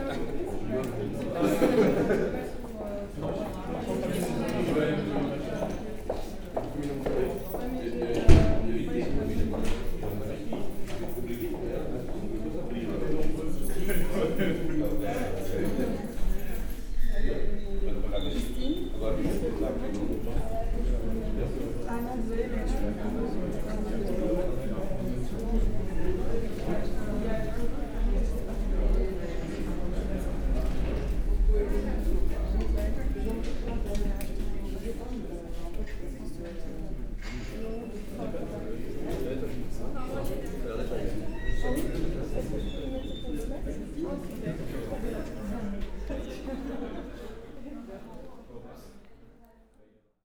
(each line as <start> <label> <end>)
0.0 people are discussing 49.8